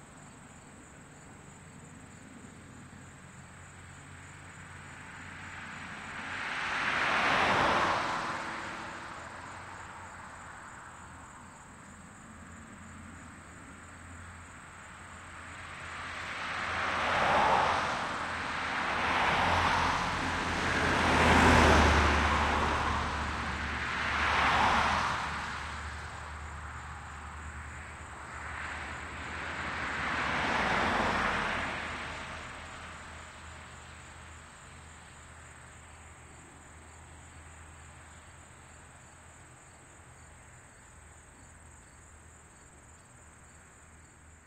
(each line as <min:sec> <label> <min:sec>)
0:00.0 automobile traffic passing from right to left 0:44.4
0:00.0 crickets 0:44.4